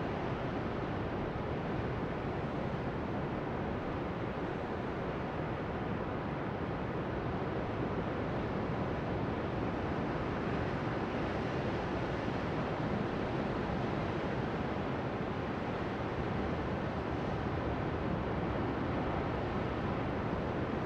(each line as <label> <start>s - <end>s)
LARGE OCEAN ROAR BIG WAVES ROCKS 0.0s - 20.8s